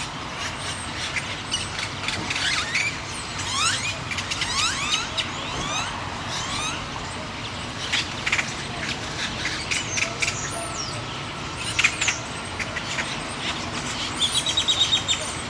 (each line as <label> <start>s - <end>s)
Purple Martins 0.9s - 7.1s